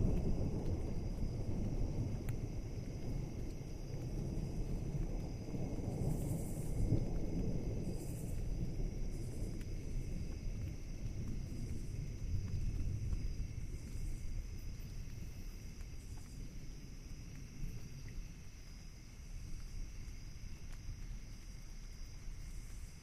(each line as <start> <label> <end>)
0.0 thunder 15.4
0.0 rain 23.0